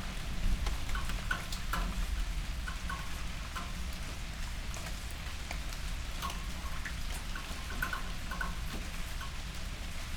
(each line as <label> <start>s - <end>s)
raindrops on fallen leaves 0.0s - 10.1s